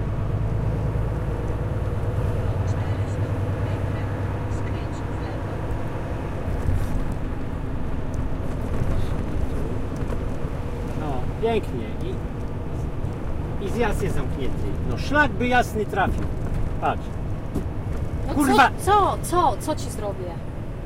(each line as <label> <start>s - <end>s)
traffic 0.0s - 20.8s
truck engine 0.0s - 20.8s